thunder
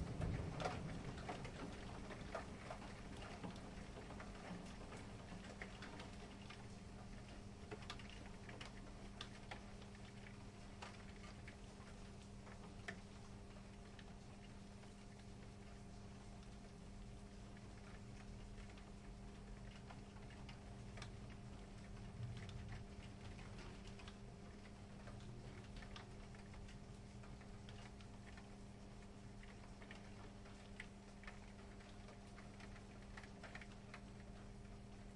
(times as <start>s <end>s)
0.0s 3.1s, 22.1s 23.7s